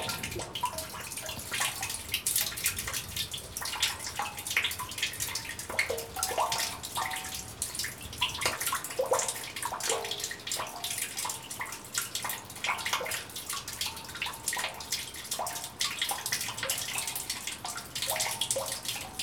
trickle dribbling from a water hose into a drain 0.0 - 19.2

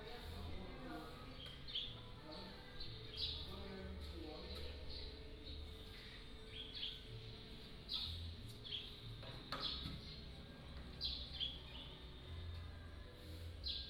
Birds singing 0.0 - 13.8

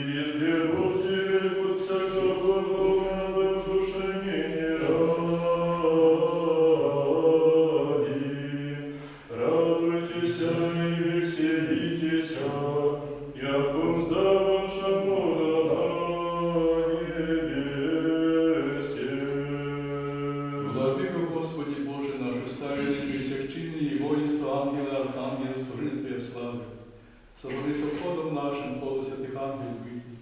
singing 0.0 - 26.7

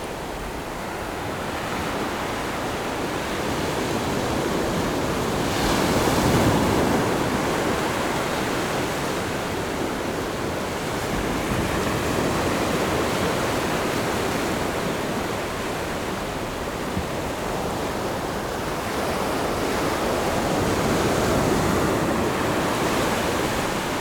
waves 0.0 - 24.0

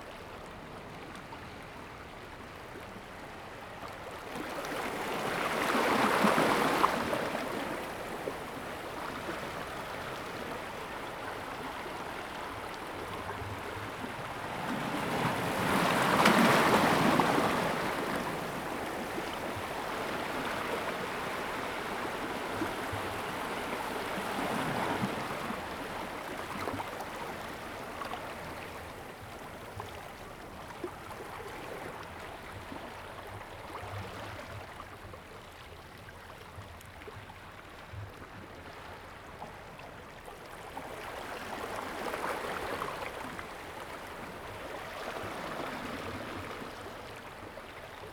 waves 0.0 - 48.1

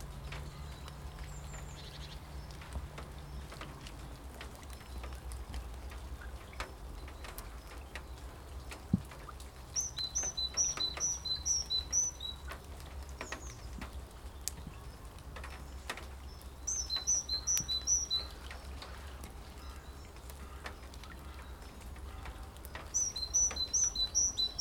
Birds 0.0 - 24.6
rain 0.0 - 24.6

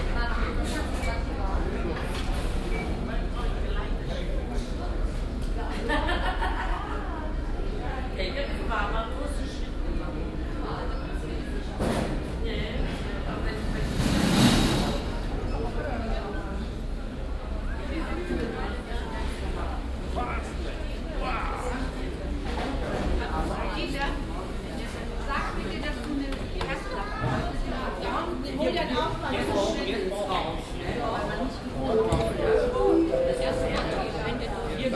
geräte am check in 31.9 - 34.5
menschen 31.9 - 34.5

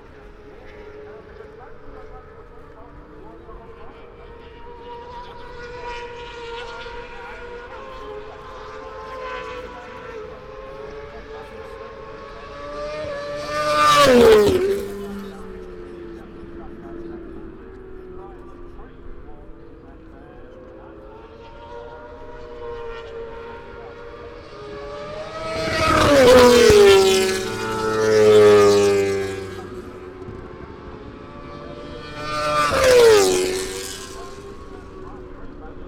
moto two 21.2 - 35.8

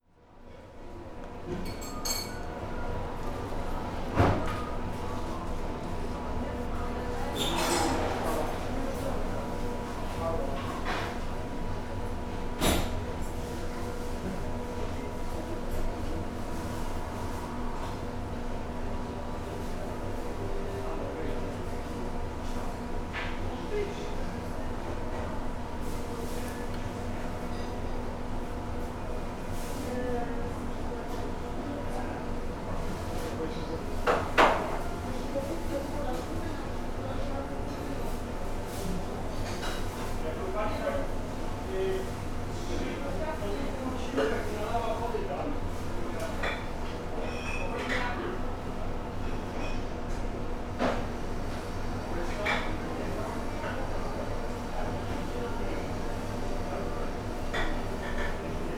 AC hum 0.0 - 58.7
staff conversations 0.6 - 58.7
beep of the convection oven 47.2 - 47.7

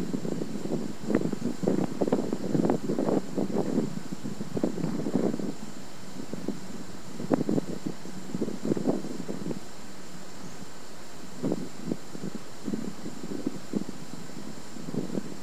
Wind Underneath A Viaduct 0.0 - 15.4

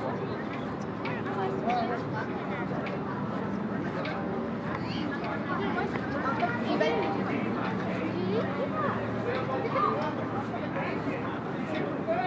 calls from tourist boats 0.0 - 12.2

